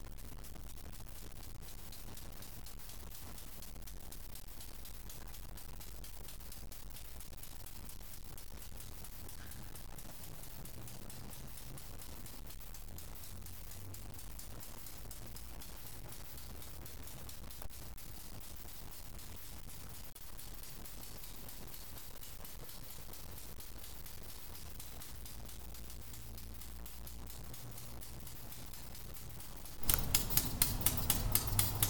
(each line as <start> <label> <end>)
29.8 train sound recorded from distance 31.8